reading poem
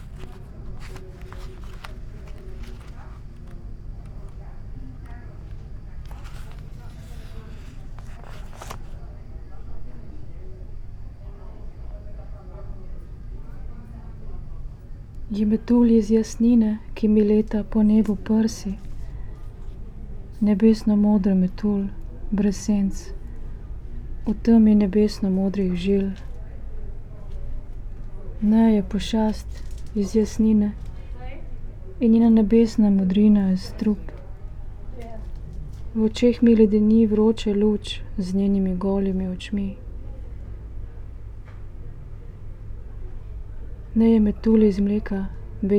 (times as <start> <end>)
0.0 5.2